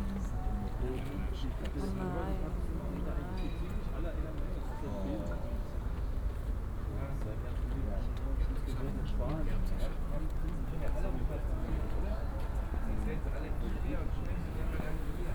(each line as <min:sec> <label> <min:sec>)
0:00.0 people talking 0:03.4